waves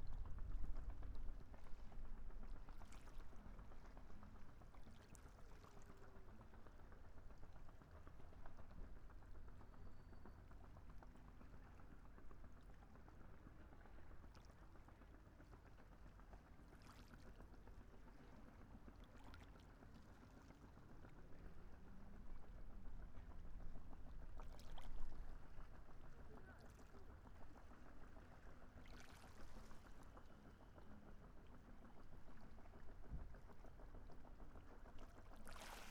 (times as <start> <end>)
35.3 35.9